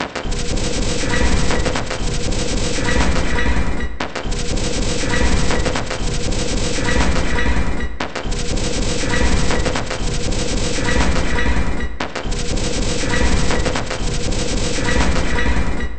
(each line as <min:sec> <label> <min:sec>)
0:00.0 Drum 0:15.9